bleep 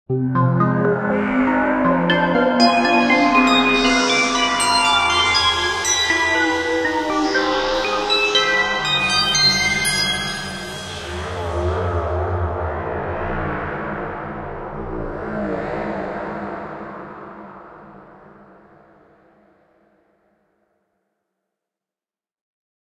0:02.1 0:11.6

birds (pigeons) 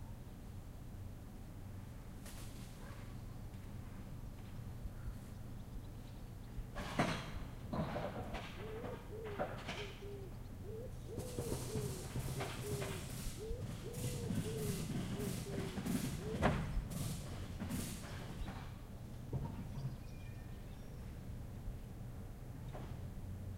0:07.8 0:17.3

